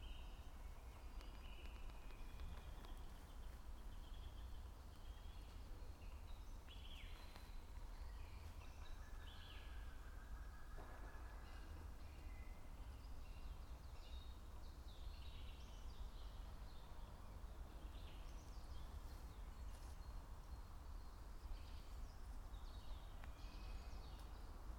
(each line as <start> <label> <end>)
0.0 birds 24.7